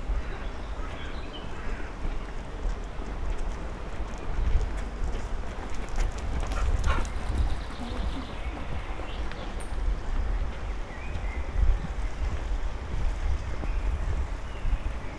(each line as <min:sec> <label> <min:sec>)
0:00.0 walking along the canal 0:15.1